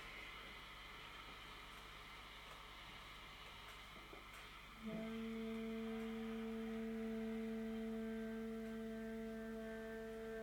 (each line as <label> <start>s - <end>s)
sax 4.8s - 10.4s